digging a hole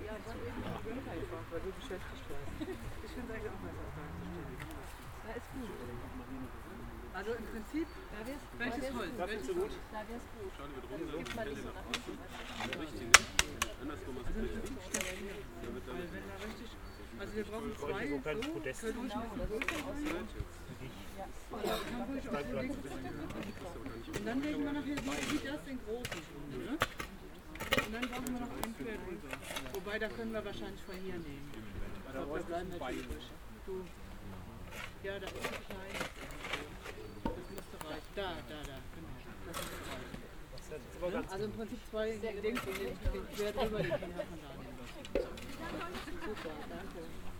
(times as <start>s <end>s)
11.2s 13.8s, 14.6s 17.0s, 19.5s 20.3s, 23.2s 30.5s, 34.6s 40.3s, 42.4s 43.6s